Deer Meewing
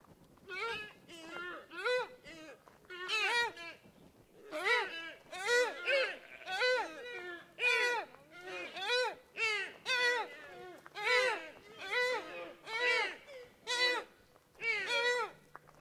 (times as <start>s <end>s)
0.5s 2.1s, 4.4s 15.4s